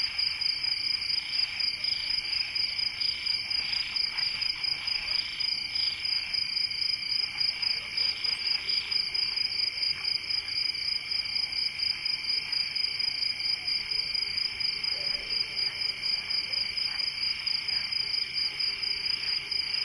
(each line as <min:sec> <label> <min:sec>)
0:00.0 cricket chorus 0:19.8
0:00.0 frogs 0:19.8